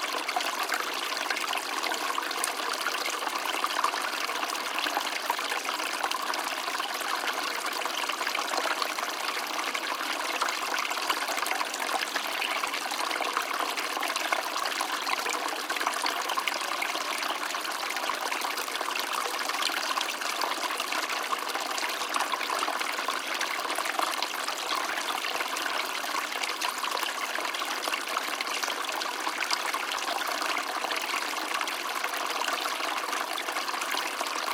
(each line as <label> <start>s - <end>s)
small water stream 0.0s - 34.5s